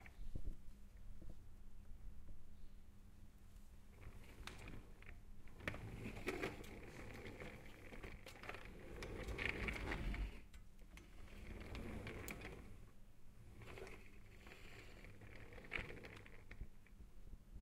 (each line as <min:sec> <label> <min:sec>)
0:04.0 pushing a metal serving cart on a wooden floor 0:16.6